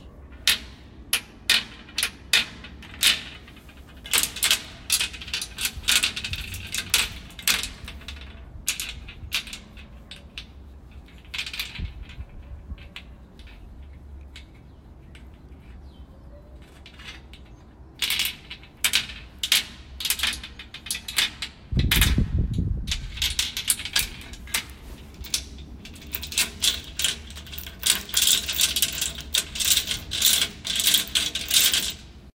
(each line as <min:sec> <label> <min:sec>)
0:22.9 chains 0:32.2
0:23.0 padlocks 0:32.3